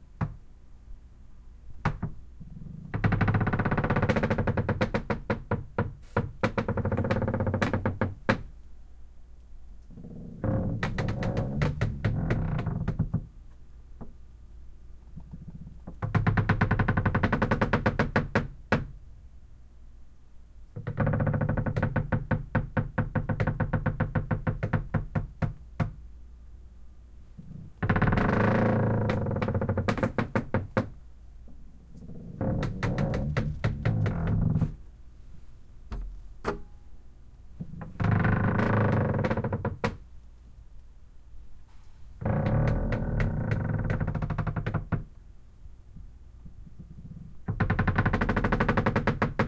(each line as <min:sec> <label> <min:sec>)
0:01.9 wood creaks deep long 0:08.4
0:09.9 wood creaks deep long 0:13.3
0:15.3 wood creaks deep long 0:18.8
0:20.8 wood creaks deep long 0:25.9
0:27.4 wood creaks deep long 0:30.9
0:31.9 wood creaks deep long 0:34.9
0:37.6 wood creaks deep long 0:40.0
0:42.2 wood creaks deep long 0:45.0
0:46.9 wood creaks deep long 0:49.4